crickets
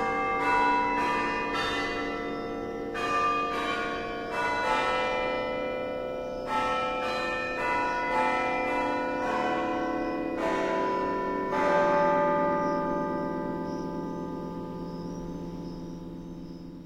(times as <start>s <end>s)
13.6s 14.2s, 14.8s 16.8s